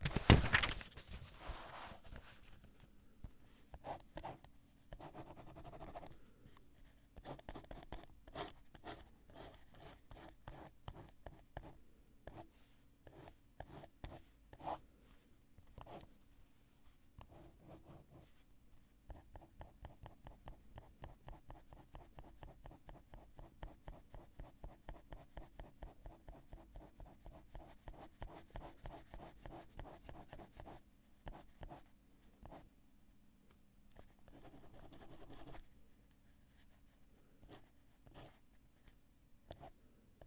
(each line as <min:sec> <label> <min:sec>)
0:03.8 Writing and scratching around with a pen on a refill pad 0:06.1
0:06.8 Writing and scratching around with a pen on a refill pad 0:12.5
0:13.1 Writing and scratching around with a pen on a refill pad 0:14.8
0:17.2 Writing and scratching around with a pen on a refill pad 0:18.4
0:19.1 Writing and scratching around with a pen on a refill pad 0:32.6
0:34.0 Writing and scratching around with a pen on a refill pad 0:35.7
0:36.4 Writing and scratching around with a pen on a refill pad 0:38.4